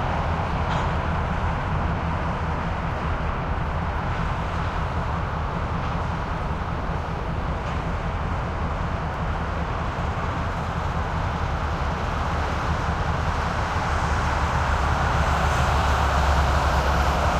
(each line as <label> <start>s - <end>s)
cars being organized onto various tracks 0.0s - 17.3s
engine sounds 0.0s - 17.3s
highway 0.0s - 17.3s